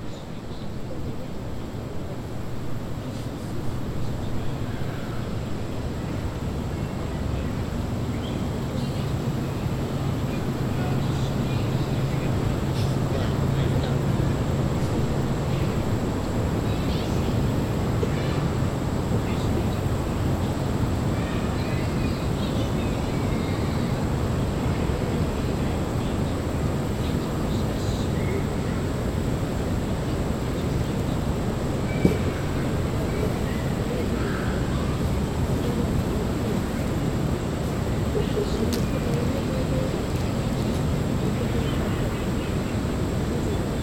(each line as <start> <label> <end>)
0.0 insects 43.8
0.8 vehicles driving in the background 43.8
23.7 people passed the recording rig by foot 43.8